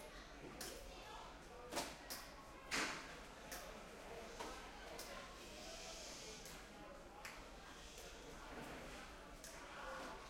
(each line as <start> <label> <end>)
0.0 crowd 10.2